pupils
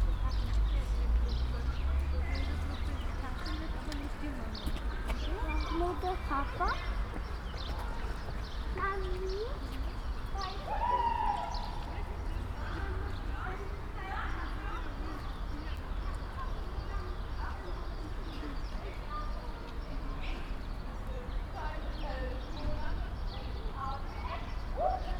0:00.1 0:18.8

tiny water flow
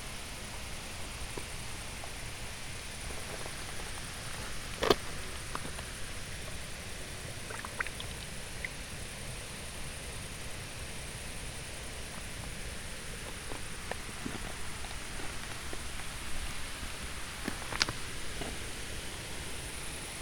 0:02.6 0:10.2

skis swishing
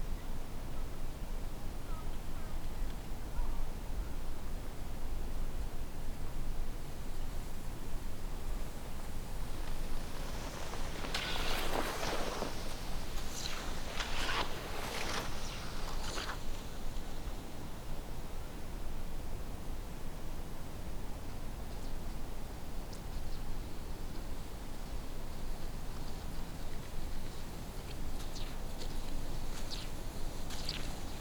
0:08.2 0:17.5

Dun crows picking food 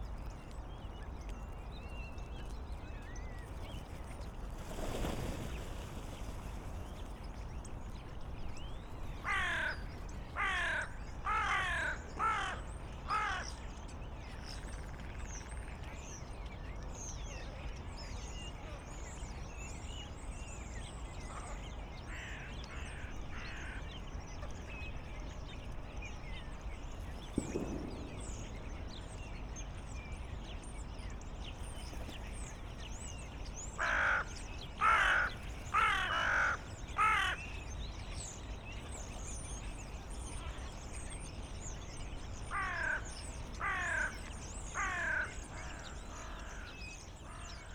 0:33.8 0:37.6, 0:42.5 0:47.6

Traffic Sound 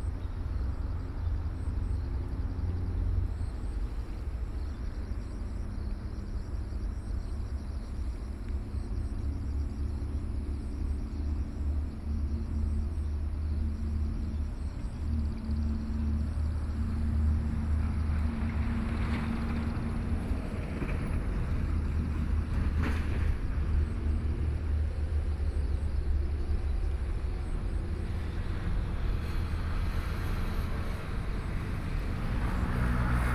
0:14.4 0:33.3

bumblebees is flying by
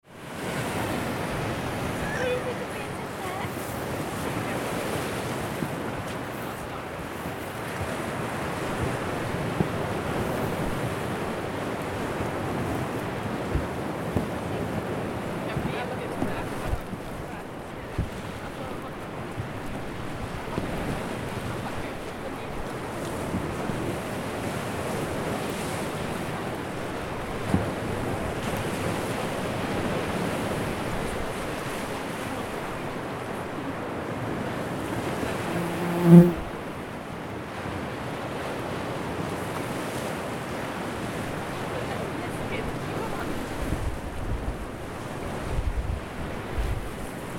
0:34.8 0:36.6

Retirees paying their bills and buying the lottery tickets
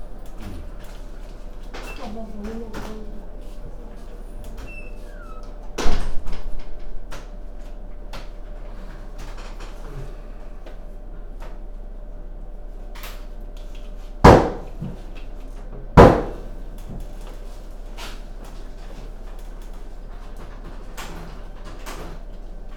0:00.0 0:11.8

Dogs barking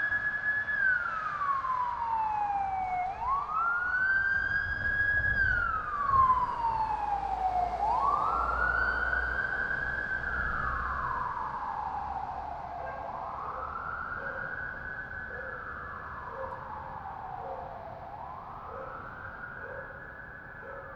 0:12.8 0:16.7, 0:17.3 0:17.8, 0:18.6 0:20.0, 0:20.6 0:20.9

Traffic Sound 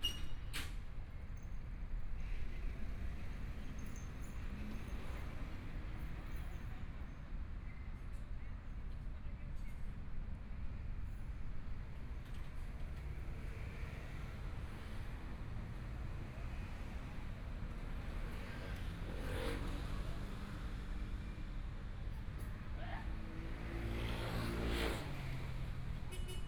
0:11.7 0:26.4

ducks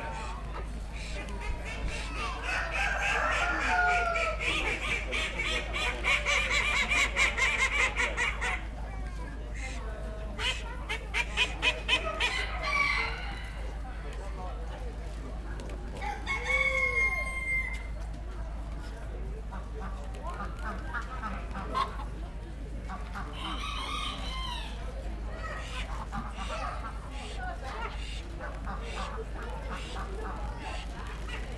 0:00.0 0:08.8, 0:09.5 0:13.8, 0:19.5 0:22.2, 0:22.8 0:31.5

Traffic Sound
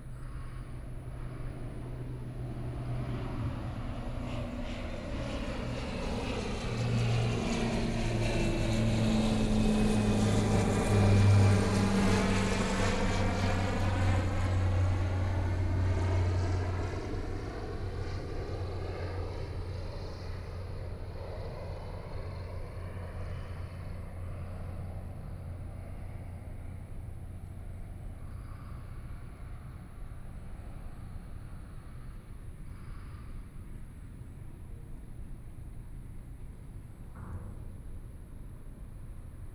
0:00.0 0:16.8

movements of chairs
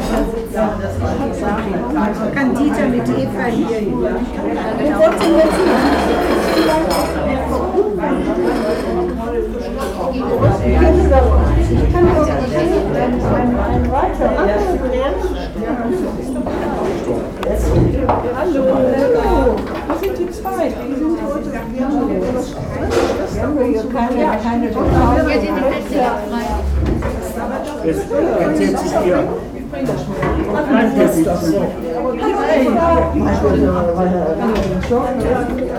0:05.0 0:14.8, 0:24.8 0:27.8, 0:32.3 0:35.7

